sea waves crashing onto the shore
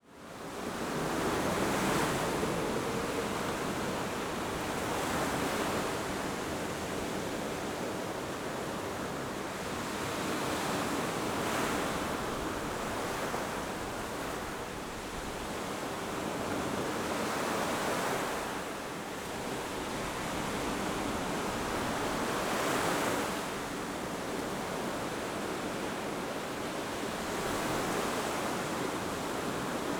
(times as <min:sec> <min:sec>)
0:00.3 0:14.8